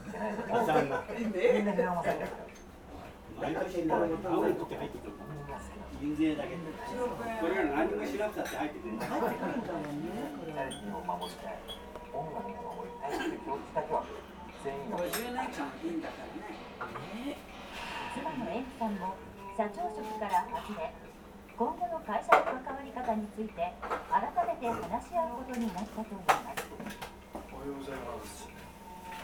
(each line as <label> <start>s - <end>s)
clocks ticking constantly 7.5s - 18.1s
tv show and commercials 9.8s - 22.3s
clocks ticking constantly 18.7s - 29.2s